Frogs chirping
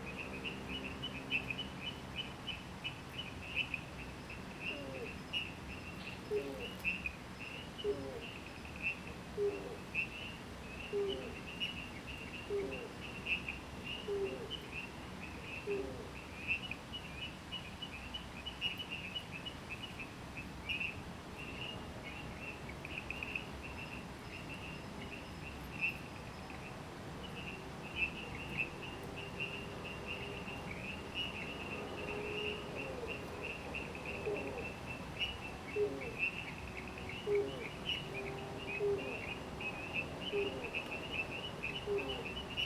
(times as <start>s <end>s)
20.4s 42.6s